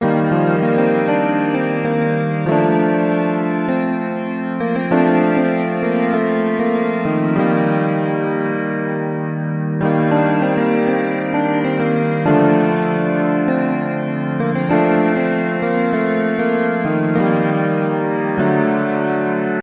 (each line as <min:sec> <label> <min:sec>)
0:00.0 e-piano playing gentle, lighthearted chords 0:19.6
0:00.0 synth 0:19.6